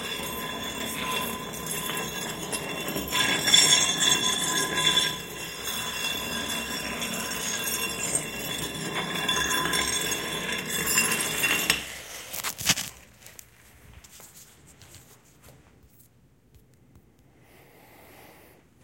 stone sliding 0:00.0 - 0:13.0

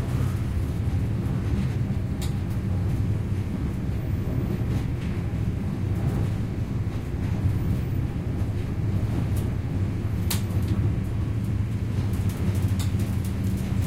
train 0:00.0 - 0:13.8

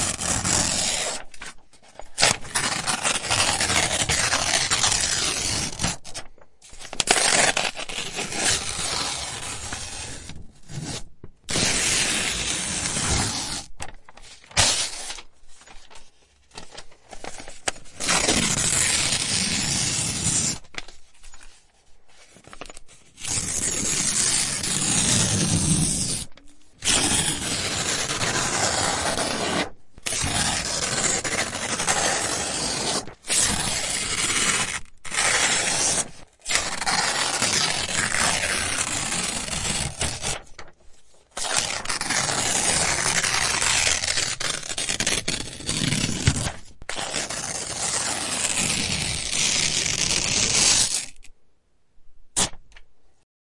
tear papers up 0:02.1 - 0:21.0
tear papers up 0:26.9 - 0:51.3
tear papers up 0:52.4 - 0:52.6

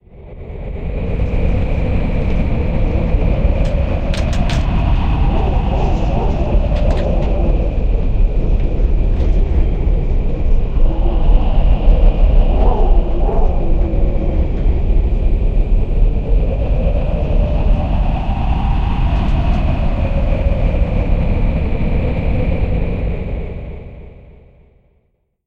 Howling Wind 0:00.0 - 0:25.0
rattle 0:03.4 - 0:07.7

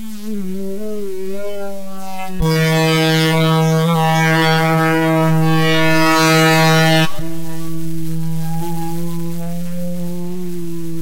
noise 0:00.0 - 0:11.0

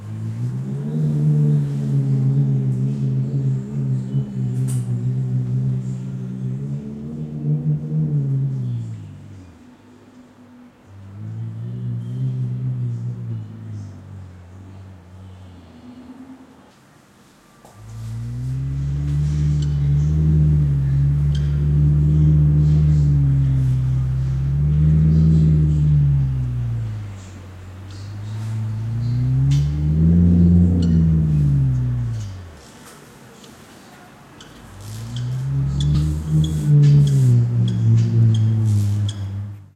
traffic noise in background 0:00.0 - 0:39.7
bird callings 0:25.2 - 0:32.7
bird callings 0:34.4 - 0:39.6

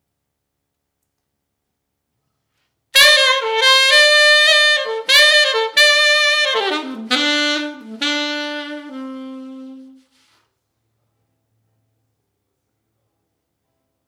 sax 0:03.0 - 0:10.4

